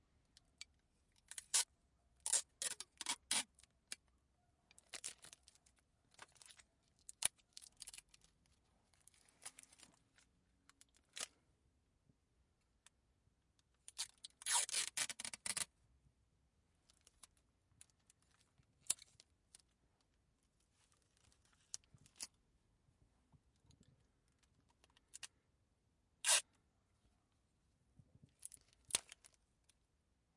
Unrolling sticky-tape 1.2 - 3.6
tearing sellotape 1.3 - 3.5
Unrolling sticky-tape 13.9 - 15.7
tearing sellotape 13.9 - 15.7
Unrolling sticky-tape 26.2 - 26.5
tearing sellotape 26.2 - 26.5

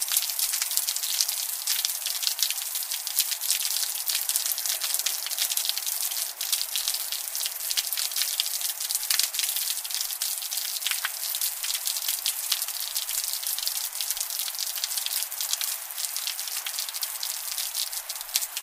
Rain pouring from a drainpipe onto pavement 0.0 - 18.6
backround hiss of the city 0.0 - 18.6

